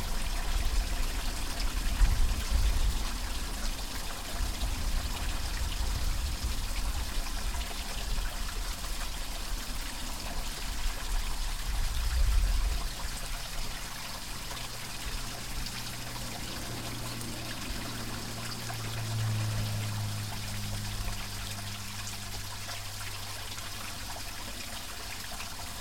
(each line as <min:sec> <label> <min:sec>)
0:00.0 greek water distribution system 0:25.8